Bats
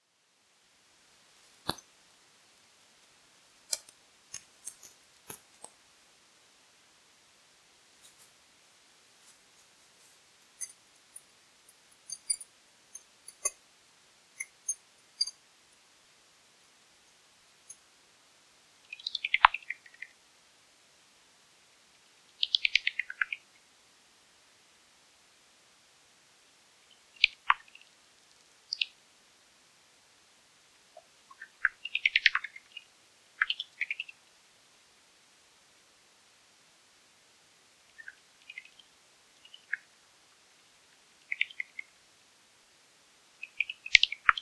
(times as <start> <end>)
10.5 13.7, 14.4 15.4